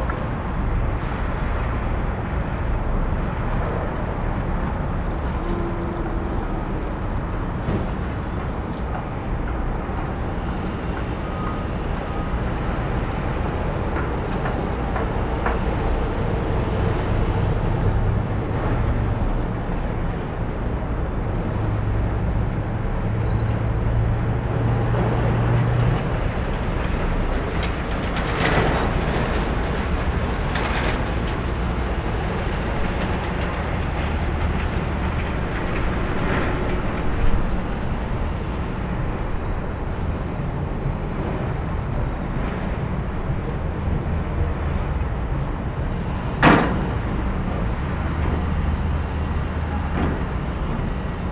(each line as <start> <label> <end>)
0.0 massive construcion going on 21.7
24.5 massive construcion going on 51.3